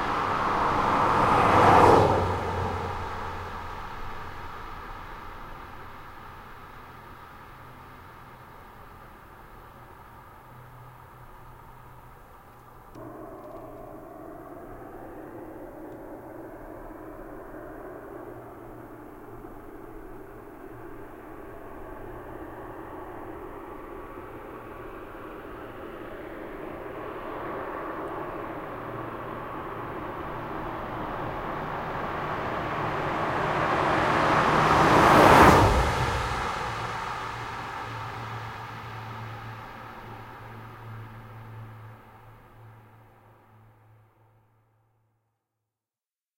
Cars and trucks passing on a highway 0.0 - 44.5

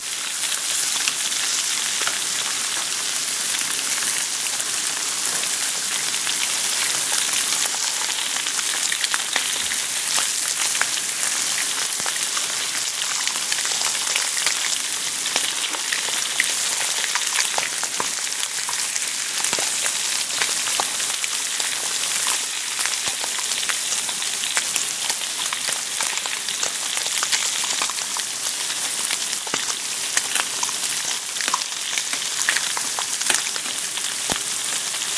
frying 0.0 - 35.1

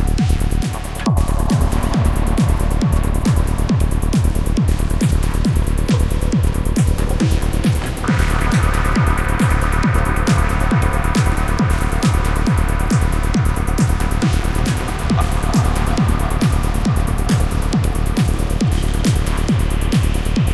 psy trance 0.0 - 20.5

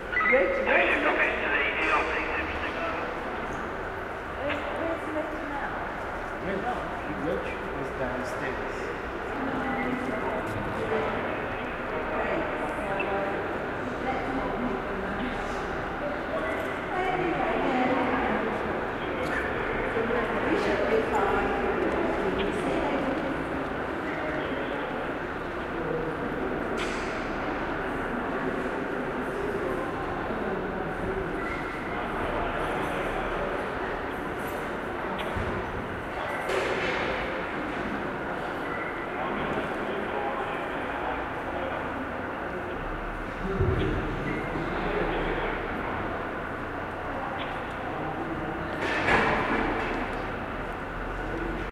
background noise from ventilation and heating systems 0.0 - 51.7
voices 0.0 - 51.7
curator's radio 0.0 - 3.4

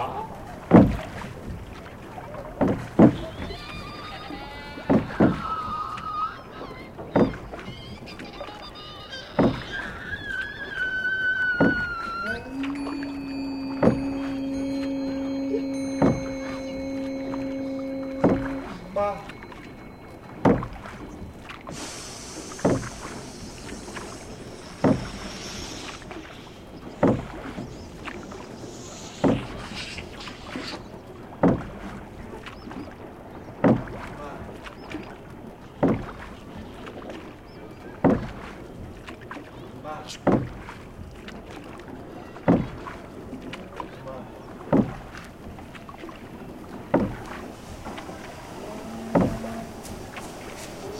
boats 0.0 - 50.9
river 0.0 - 50.9
ceremony 11.8 - 22.0

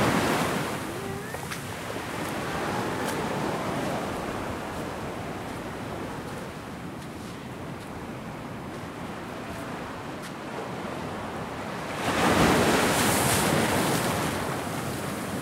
wavesandwater 0.0 - 15.4
footsteps 1.3 - 8.0

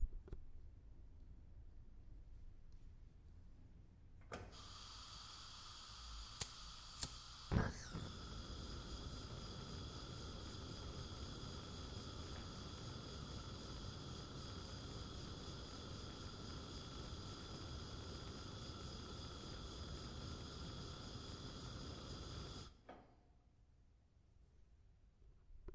gas stove is being ignited with a lighter 4.2 - 23.0

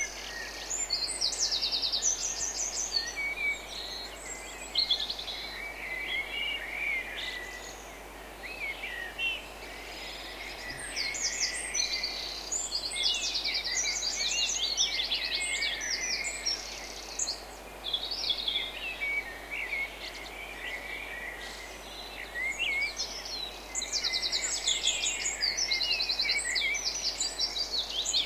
birdsong 0.0 - 28.2

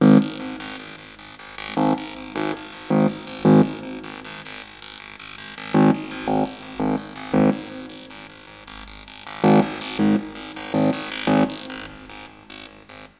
beatboxing 0.0 - 13.1
electricity 0.0 - 13.1

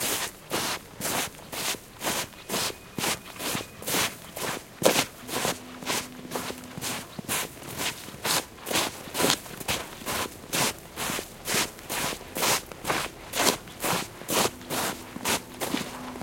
shuffling along a snowy road 0.0 - 16.2

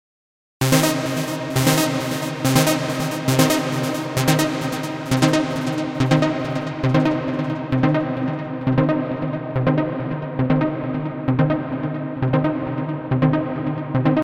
synth 0.6 - 14.2

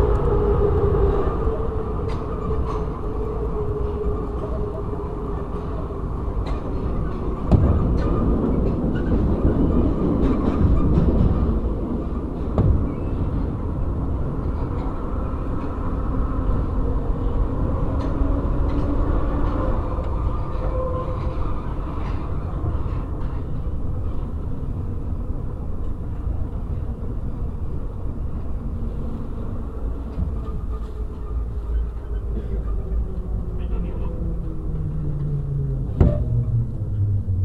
subway cars 0.0 - 37.4

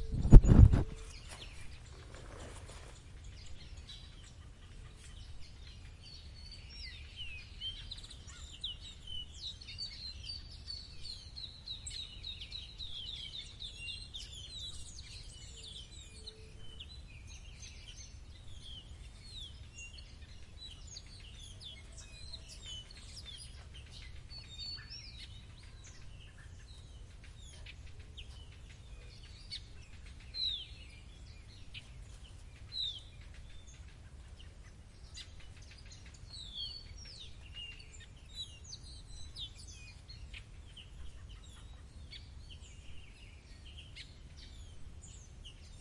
Birds 0.0 - 45.8

